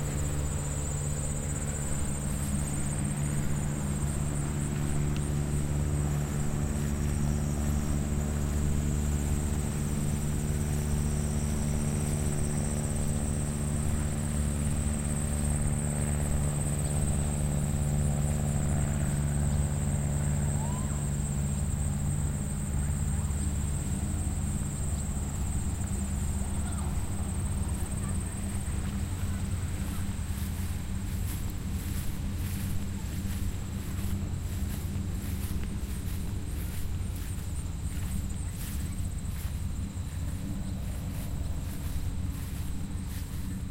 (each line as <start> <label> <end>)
0.0 airplane 43.7
0.0 cicadas 43.7
0.0 crickets 43.7
0.0 helicopter 43.7
19.9 voices 21.6
22.2 voices 43.6
27.8 footsteps 43.7